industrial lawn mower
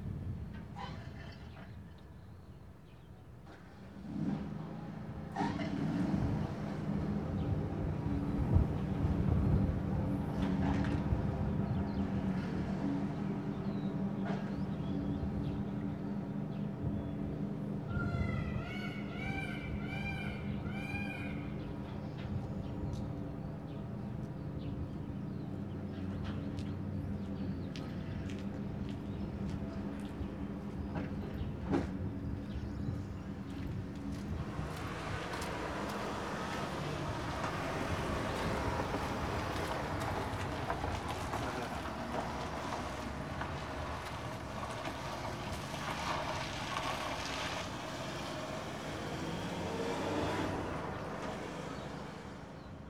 34.2 52.6

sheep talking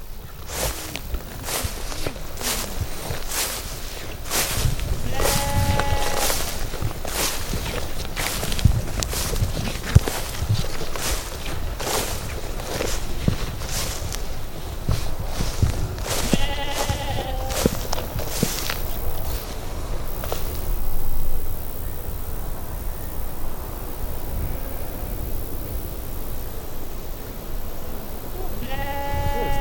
5.0 6.5, 16.1 17.8, 28.5 29.6

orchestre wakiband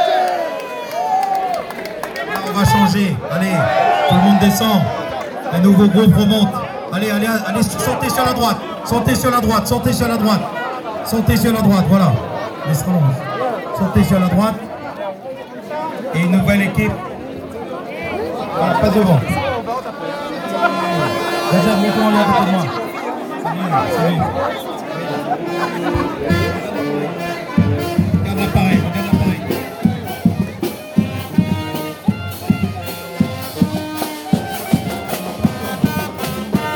18.4 36.7

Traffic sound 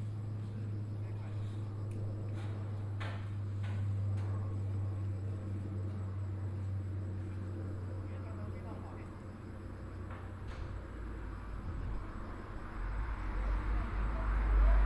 5.0 14.8

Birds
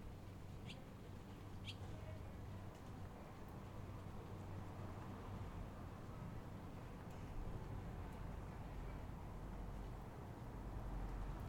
0.6 0.9, 1.6 1.9

